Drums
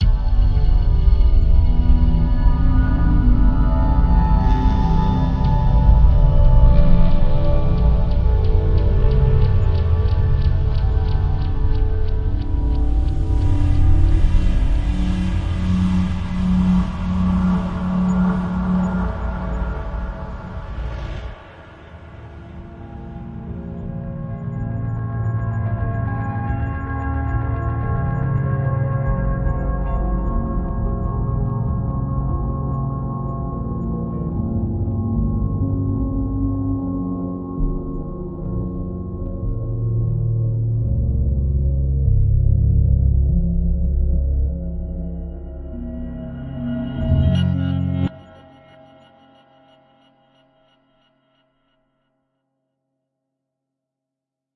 0.0 41.6

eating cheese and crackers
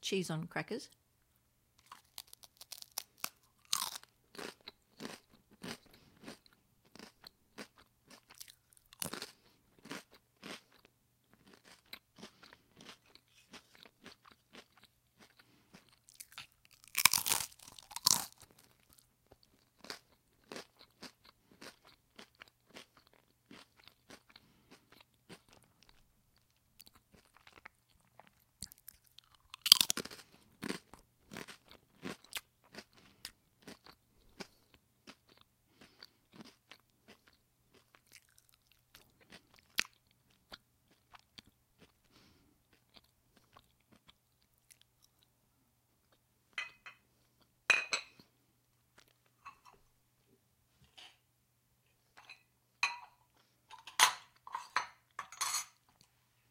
1.8 46.3

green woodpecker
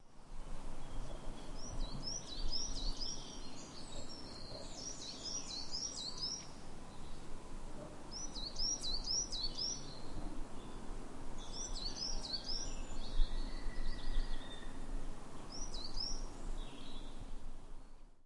0.8 7.2

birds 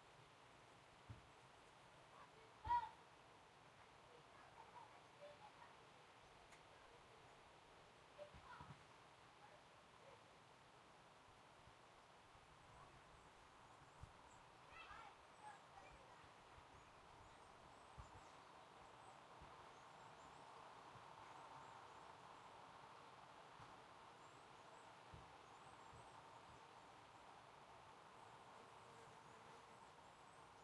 12.8 30.6

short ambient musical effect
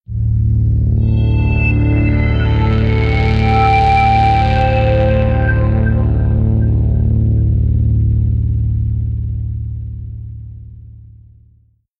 0.3 8.8

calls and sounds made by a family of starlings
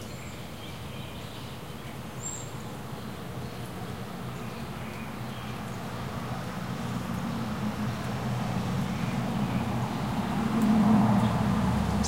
11.2 12.0

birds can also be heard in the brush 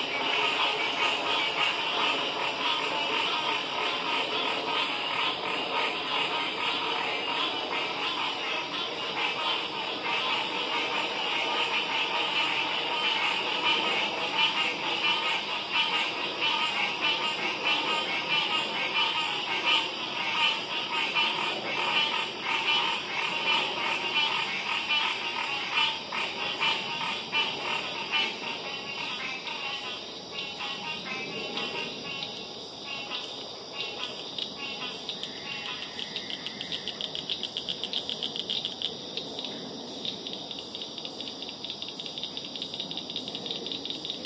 30.3 40.6

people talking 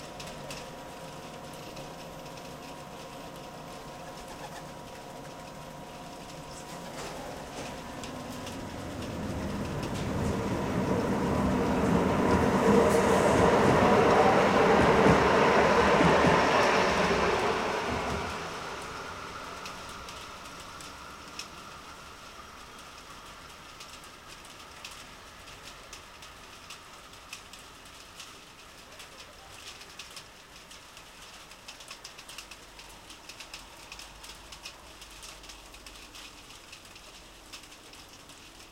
6.4 8.0

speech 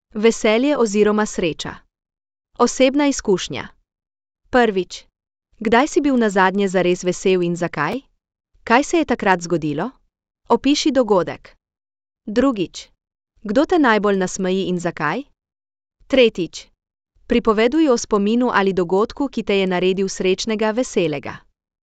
0.2 1.8, 2.6 3.8, 4.6 8.1, 8.7 11.6, 12.3 15.3, 16.1 16.7, 17.3 21.5

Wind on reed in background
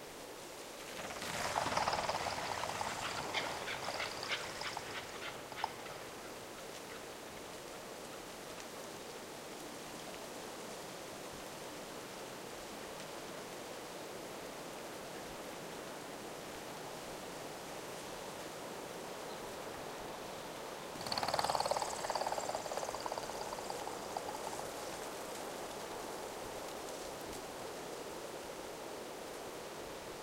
0.0 10.8

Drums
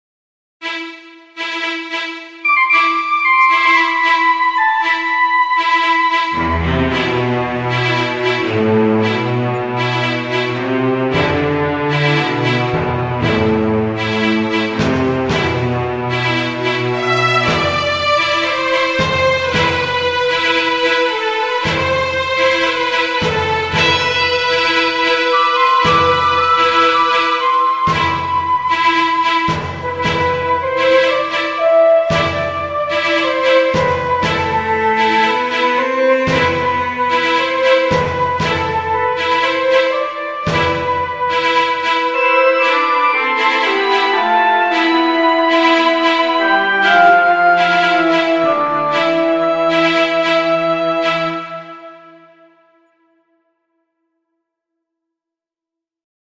11.0 42.6

